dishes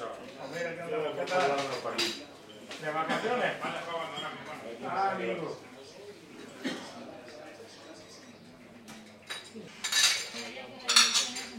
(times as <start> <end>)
1.1 3.3, 8.1 11.5